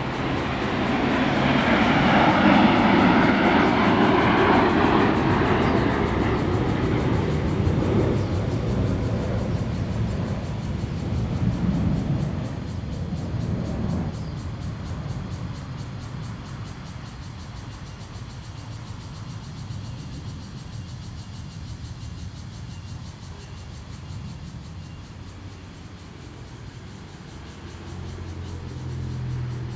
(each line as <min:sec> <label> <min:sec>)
0:00.0 Train traveling through 0:17.7
0:00.0 Cicadas sound 0:29.7
0:00.0 Traffic Sound 0:29.7